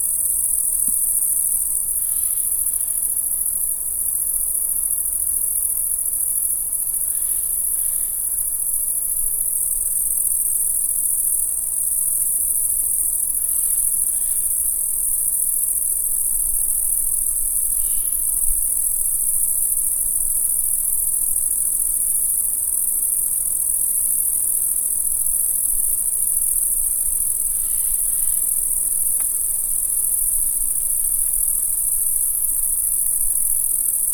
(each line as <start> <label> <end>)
9.5 grasshoppers 34.1